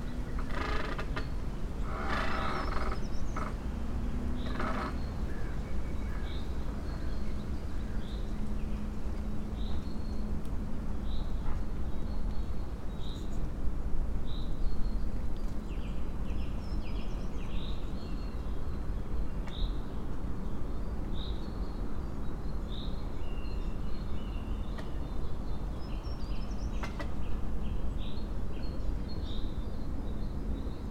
creaking tree 0.0 - 3.7
birds 0.0 - 10.4
spring breeze through tree crowns 0.0 - 30.9
creaking tree 4.4 - 5.2
birds 14.3 - 30.9

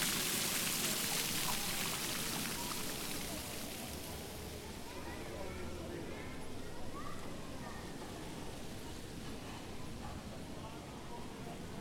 fountain shower 0.0 - 5.2
people 0.0 - 11.8

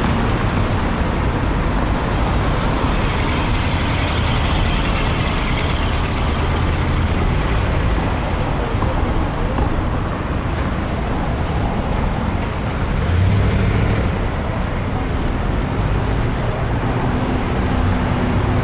motorcycles 0.0 - 18.6
various types of vehicles, large and small 0.0 - 18.6

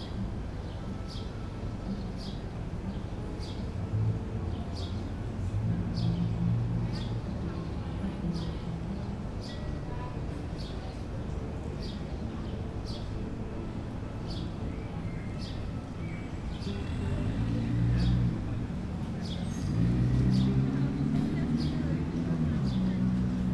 birdsong 0.0 - 3.8
guitar 0.0 - 23.5
birdsong 7.0 - 23.2

